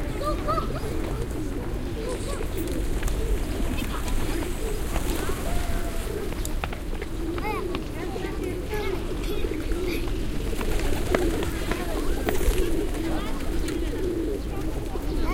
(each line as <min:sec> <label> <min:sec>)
0:00.0 large group of pigeons 0:15.3
0:00.0 people 0:15.3